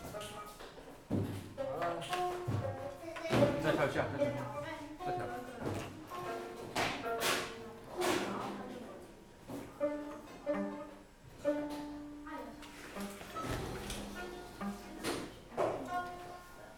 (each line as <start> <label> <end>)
9.7 violin tuning 16.4